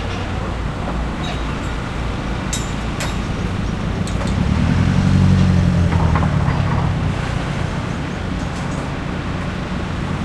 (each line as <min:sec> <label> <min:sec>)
0:00.0 machinery 0:10.2